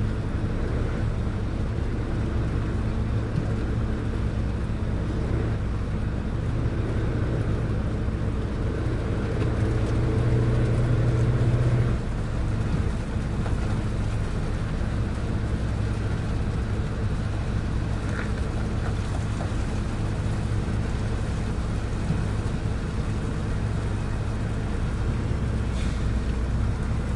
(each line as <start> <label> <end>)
0.0 forklift 27.1
0.0 fruit-processing plant 27.1